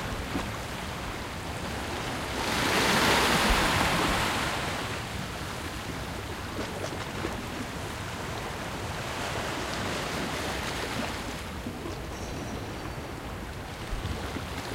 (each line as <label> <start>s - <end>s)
sea 0.0s - 14.7s